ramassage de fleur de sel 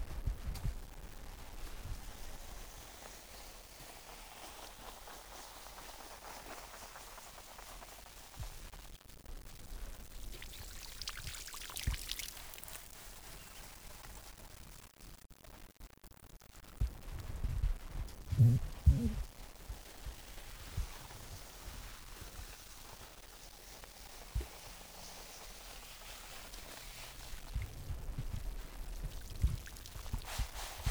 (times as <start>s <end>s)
1.4s 8.9s, 10.1s 14.2s, 18.4s 30.9s